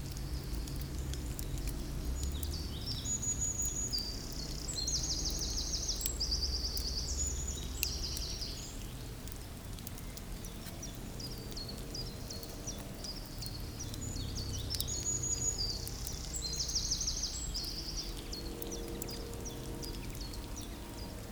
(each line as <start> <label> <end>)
0.0 Ferns growing 21.3